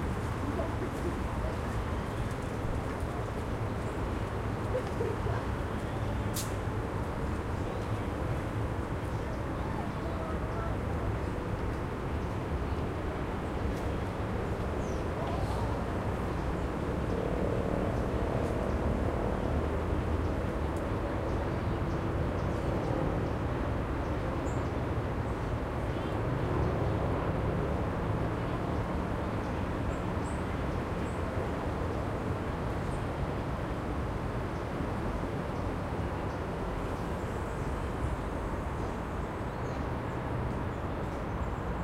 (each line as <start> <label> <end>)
0.0 city-noise 41.8